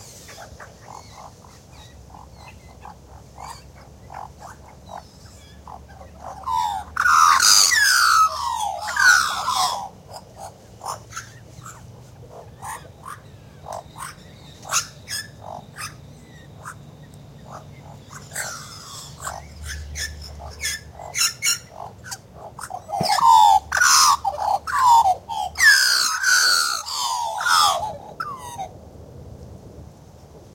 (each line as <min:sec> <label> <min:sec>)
0:00.0 Magpie carolling warbling 0:28.7